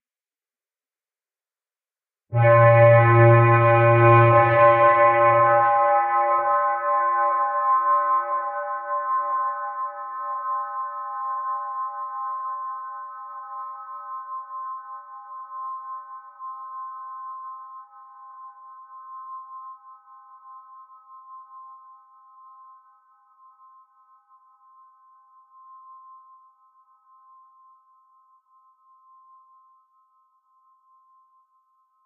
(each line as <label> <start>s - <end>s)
foggy kind of horn 2.3s - 8.8s